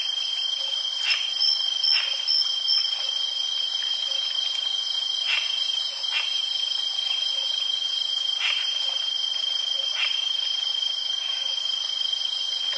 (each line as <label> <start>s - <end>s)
heavy crickets 0.0s - 12.7s
creek 11.3s - 12.7s